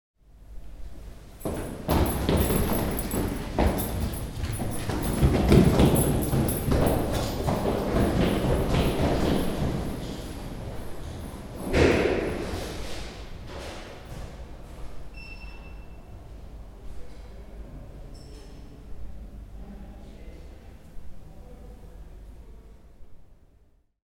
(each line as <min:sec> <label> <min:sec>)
0:01.4 Two persons staircase running 0:14.4